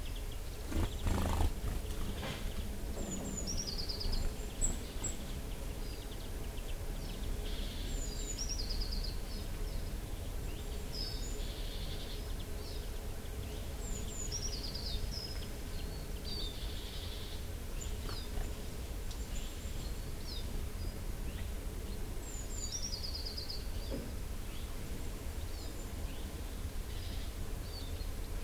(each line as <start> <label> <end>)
0.0 Blackbird 21.5
0.0 Blue Tit 24.7